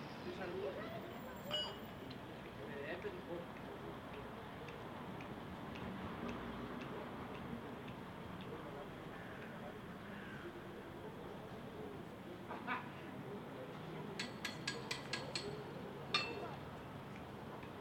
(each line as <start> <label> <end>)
0.0 family in a park 17.8
0.0 noises from a small construction site 17.8
0.0 sounds from the street 17.8